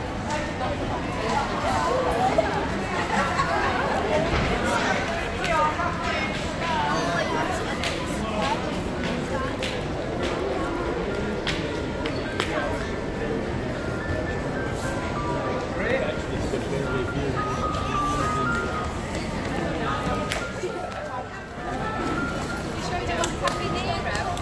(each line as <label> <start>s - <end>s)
Voices of passengers 0.0s - 24.4s
noise from restaurants 0.0s - 24.4s